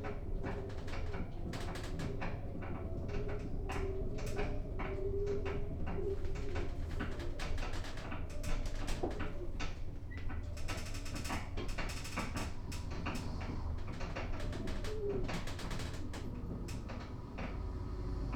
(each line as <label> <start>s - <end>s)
subway - elevator ride 0.0s - 18.3s